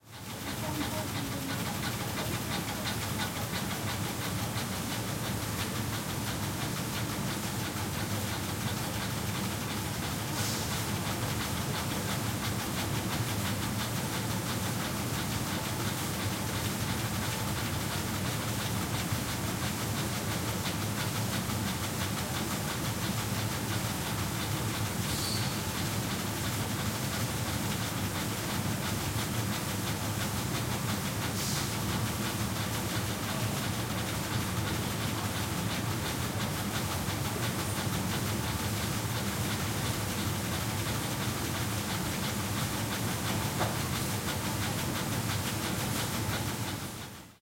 30.8s workers 47.2s

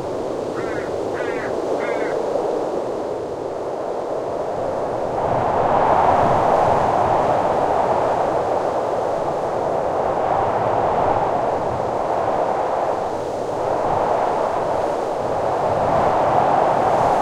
0.0s Wind blowing through a Hakea Tree and nearby grasses 17.2s
0.4s occasional Raven in the distance 2.3s

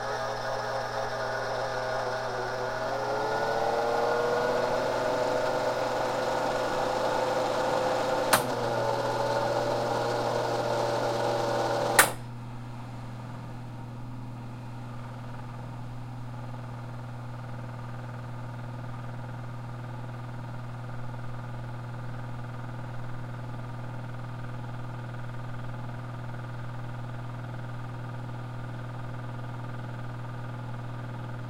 0.0s organ engine 12.2s

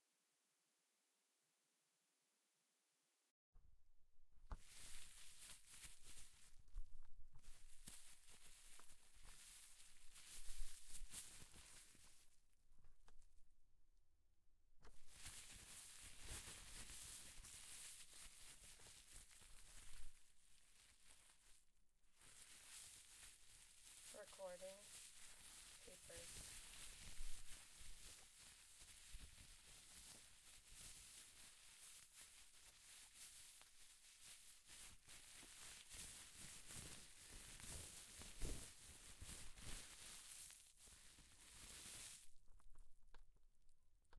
4.6s Plastic Bag 12.3s
14.9s Plastic Bag 43.0s

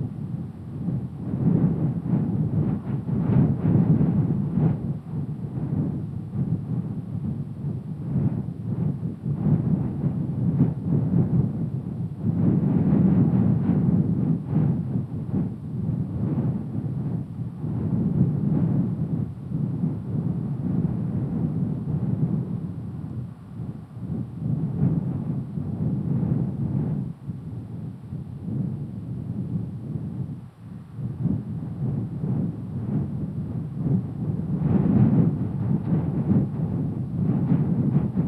0.0s Wind 38.2s

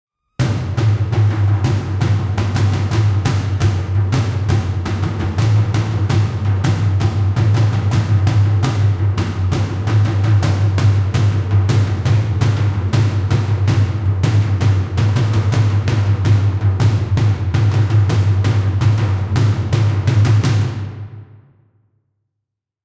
0.4s mid tom played with generic sticking 21.3s

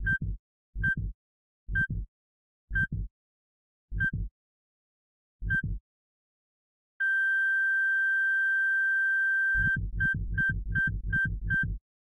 0.0s Synthesized heartbeat 2.1s
0.0s heart monitor 2.1s
2.7s Synthesized heartbeat 3.1s
2.7s heart monitor 3.1s
3.9s heart monitor 4.3s
4.0s Synthesized heartbeat 4.3s
5.4s Synthesized heartbeat 5.8s
5.4s heart monitor 5.8s
9.6s heart monitor 11.8s
9.6s Synthesized heartbeat 11.8s

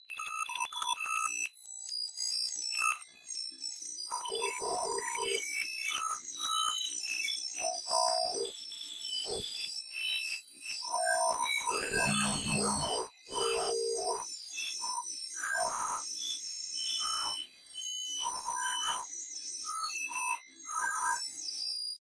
11.7s glitch 14.2s

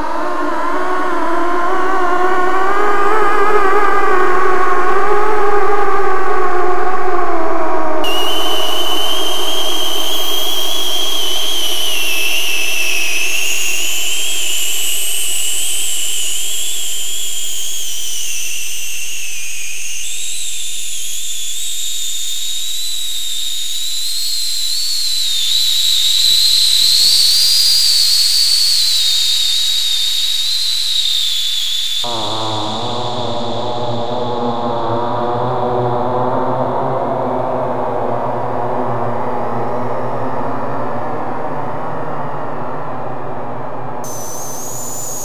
0.0s ambient space drone 45.2s

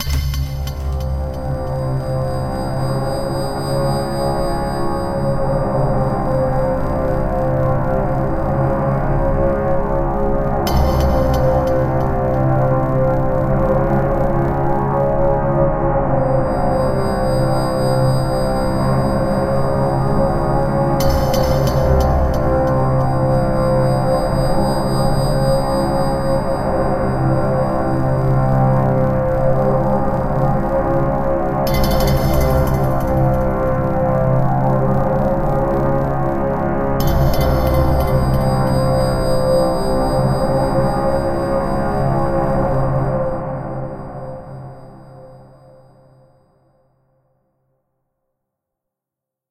0.0s Drone 46.4s

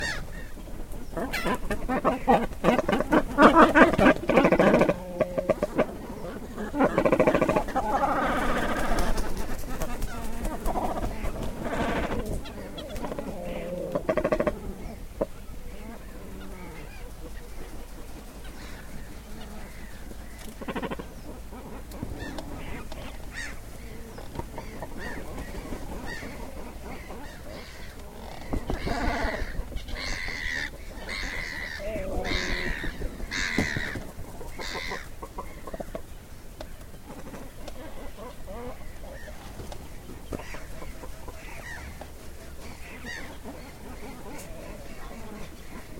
0.0s loud wings 15.1s
0.0s cormorants inside nest 45.9s
16.7s loud wings 36.0s

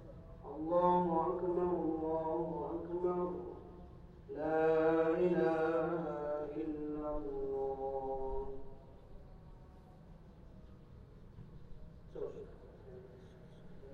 0.0s Call to Prayer 10.4s

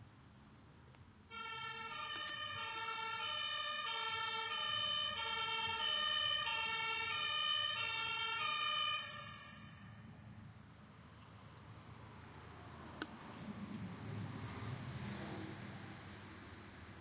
1.3s Fire engine Sirens 10.2s

